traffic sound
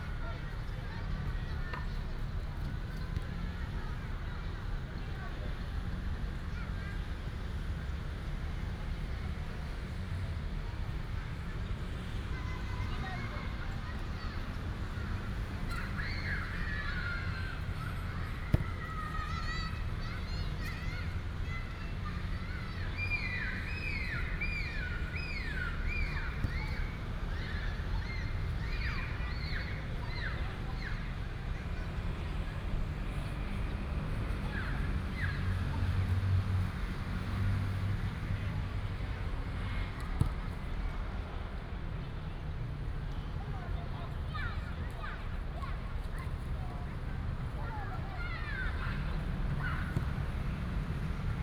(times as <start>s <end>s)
11.2s 51.4s